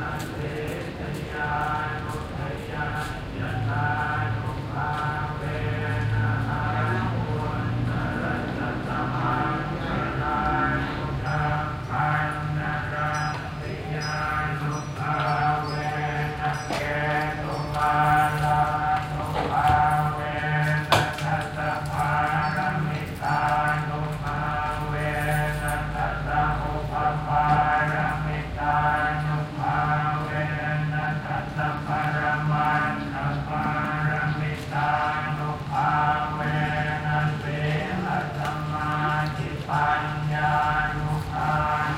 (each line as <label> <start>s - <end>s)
Buddhist chants (from loudspeakers) 0.0s - 41.9s
City ambience 0.0s - 41.9s
Workers passing 0.0s - 41.9s